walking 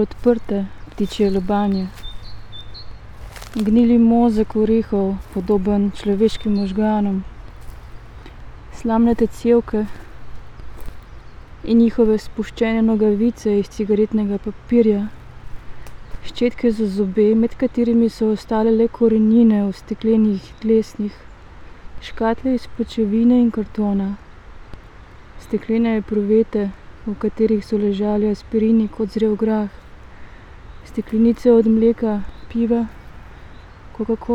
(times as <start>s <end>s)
0.0s 12.0s, 15.0s 16.6s, 30.9s 33.6s